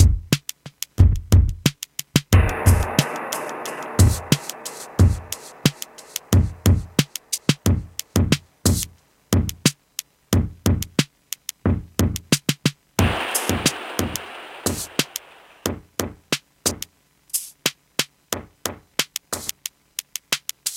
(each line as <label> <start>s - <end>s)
Drum Loop 0.0s - 20.7s
synthesizer 2.4s - 8.8s
synthesizer 13.0s - 15.6s